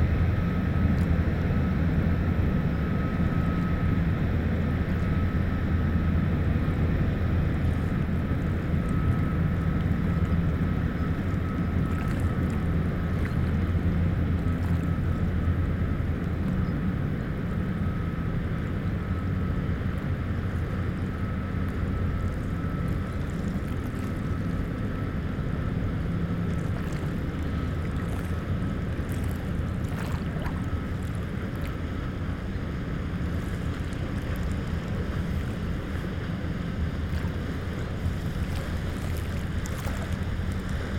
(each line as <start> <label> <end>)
0.0 Two boats are passing 40.9
0.0 big waves 40.9